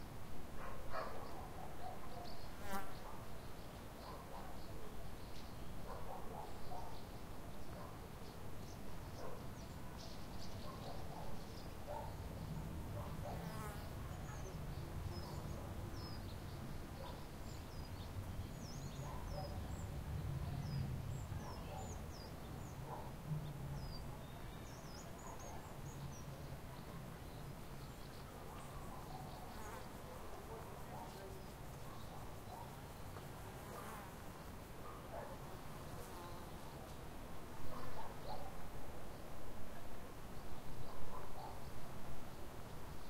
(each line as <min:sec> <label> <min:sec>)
0:00.6 birds 0:39.4
0:02.3 bugs 0:38.0
0:40.3 birds 0:43.0